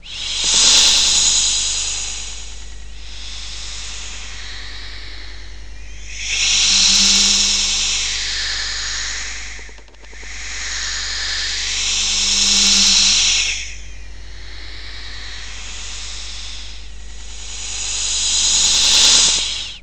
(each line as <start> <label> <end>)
0.0 snake-like sound obtained by whistling 19.8